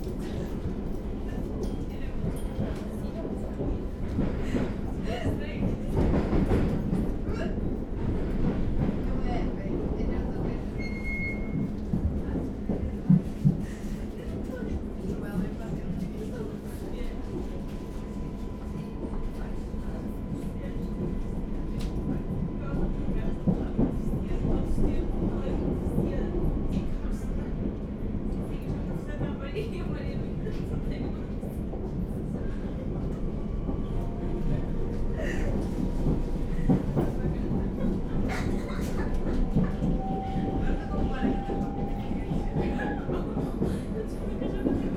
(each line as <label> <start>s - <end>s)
train departing 16.3s - 44.9s
teenage girls talking and laughing 37.0s - 39.8s